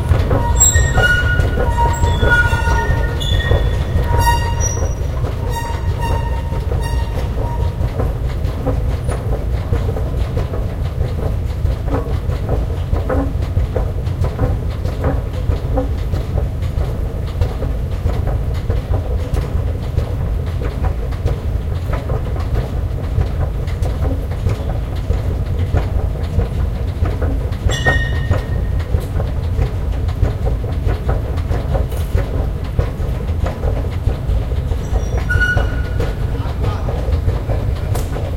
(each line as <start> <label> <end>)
0.0 Squeaky Escalator 9.9
0.0 rumble 38.3
27.0 Squeaky Escalator 30.0
30.6 Squeaky Escalator 38.3